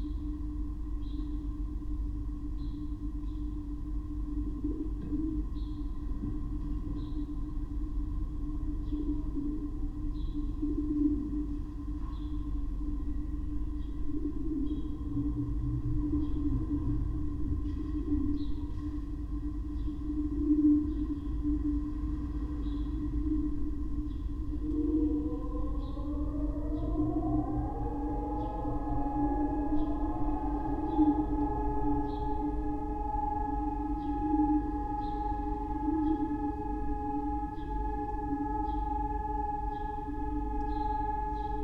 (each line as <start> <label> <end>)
22.0 siren 41.6